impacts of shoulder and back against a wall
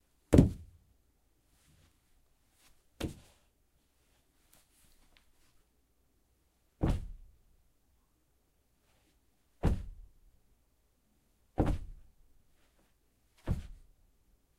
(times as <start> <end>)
0.2 0.8, 1.5 5.7, 6.7 7.5, 8.8 10.4, 11.4 14.0